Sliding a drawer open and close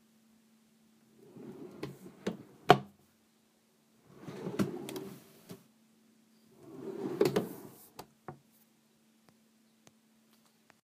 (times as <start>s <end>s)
1.2s 2.9s, 4.1s 5.6s, 6.6s 8.0s